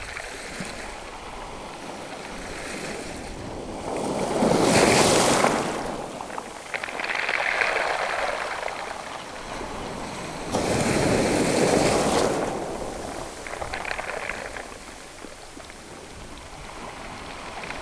waves lapping on the gravels 0.0 - 17.8

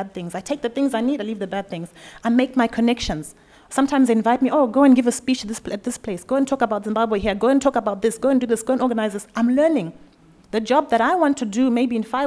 women’s conversations 0.0 - 12.2

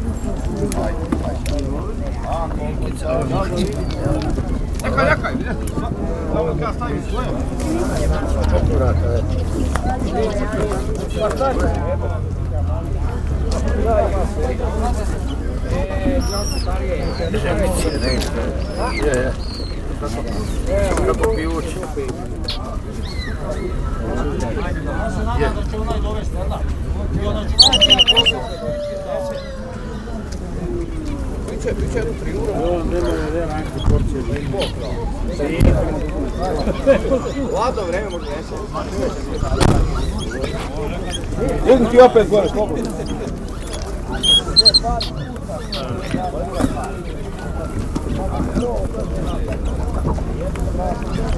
songbirds 13.5 - 26.7
rabbits 14.8 - 24.5
songbirds 27.3 - 51.3
rabbits 27.6 - 51.3
ducks 27.6 - 28.5
goose 27.6 - 29.6
chicken 27.6 - 30.1
dogs 27.6 - 30.1
goose 43.0 - 46.2
ducks 43.5 - 46.2
chicken 43.5 - 46.6

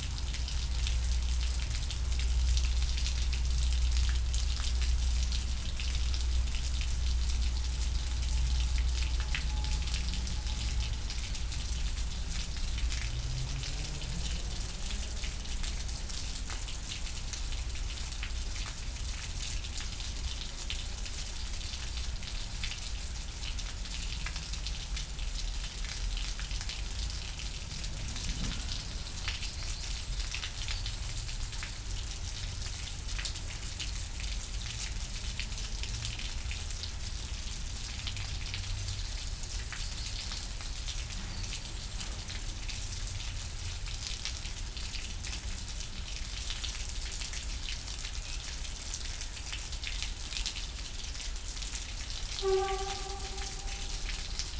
Water inflow from a nearby pond 0.0 - 54.5
river comes out from the underground, flowing in a concrete canal 0.0 - 54.5
dripping water 0.1 - 54.5

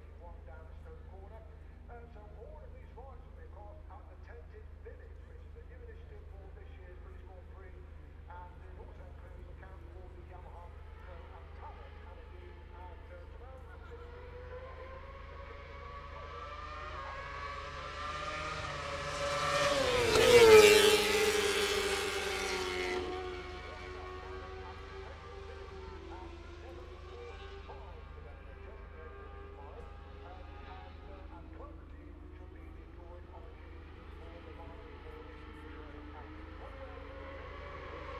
moto two 13.9 - 34.2

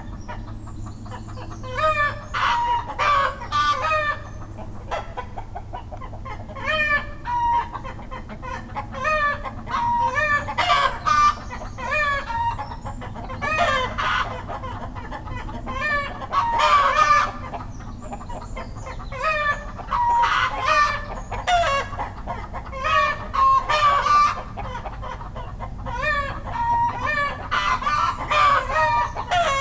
hens are afraid 0.0 - 29.6
rooster shouting 15.7 - 17.4
rooster shouting 25.9 - 29.6

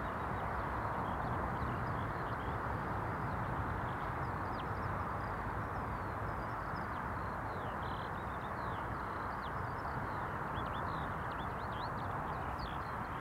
a lark sings beneath the wind 0.0 - 13.2
wind 0.0 - 13.2

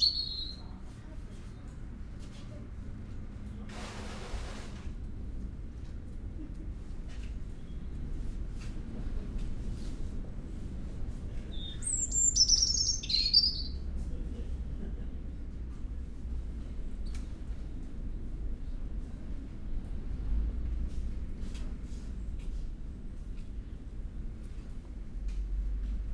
resident robin singing 0.0 - 0.7
voices 0.0 - 1.7
resident robin singing 11.5 - 13.8

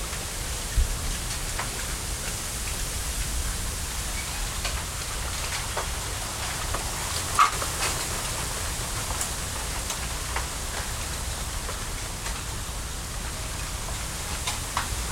Wind passing through a small bamboo grove 0.0 - 15.1

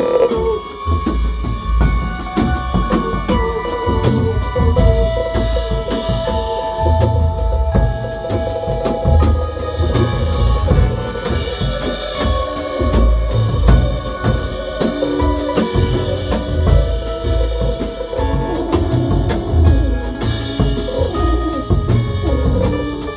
Concert 0.0 - 23.1

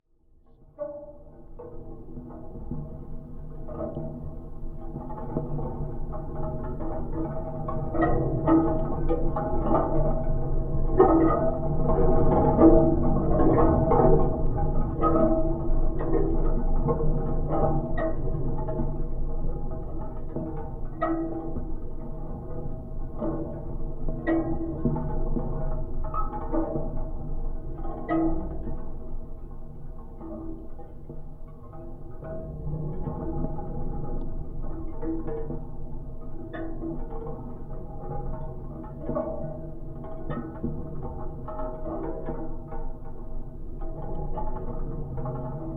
wind/cinetic sculpture 0.1 - 45.7

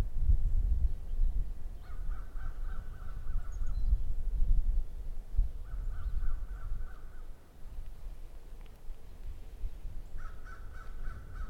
wind 0.0 - 11.4
birds 0.9 - 4.2
birds 4.9 - 11.4

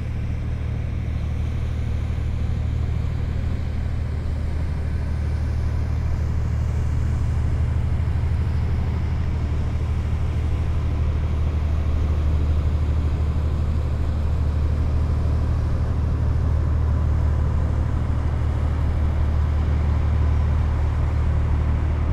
Two boats passing by on the Seine river 0.0 - 22.1

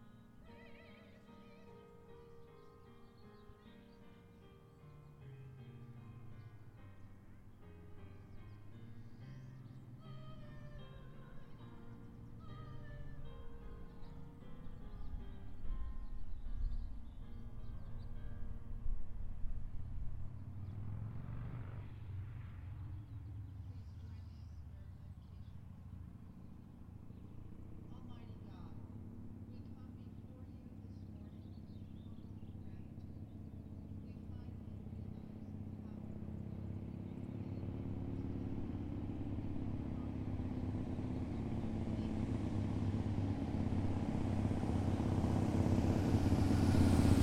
music 0.0 - 19.9
slight breeze 0.0 - 47.2
passing by on his harley 5.2 - 47.2
passing cars 5.6 - 47.2
distant freight train moving through our little town 6.0 - 47.2
birds 22.7 - 42.9

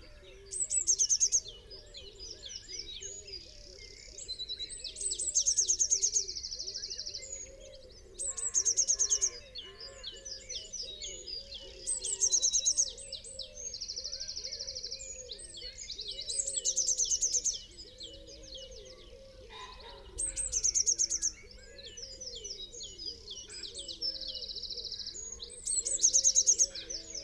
blackbird 0.0 - 27.2
pheasant 0.0 - 27.2
crow 5.4 - 27.2

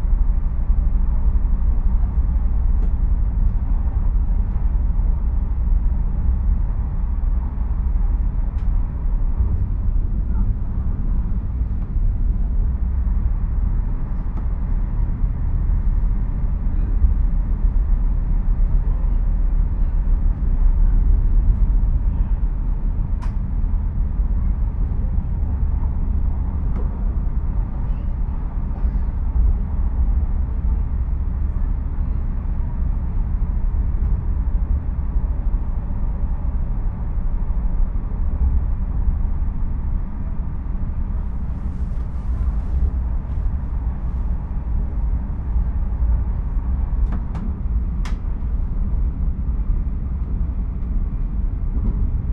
passengers leaving the train 0.0 - 52.3
train sounds 40.8 - 49.0

